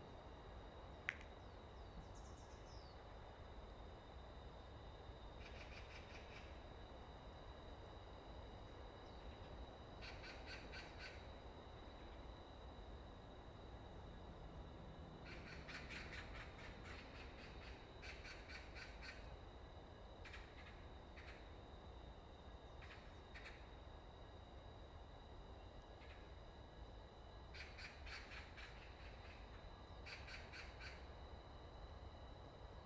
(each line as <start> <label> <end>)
0.0 Wind 32.8
0.0 insects 32.8
1.4 Birds singing 3.0